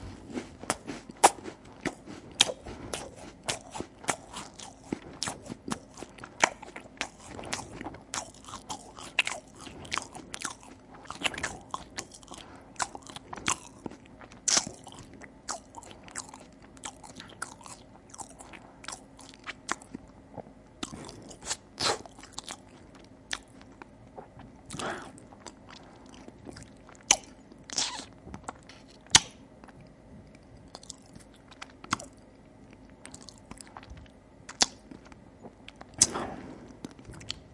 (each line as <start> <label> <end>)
0.0 Eating loudly with an open mouth 20.0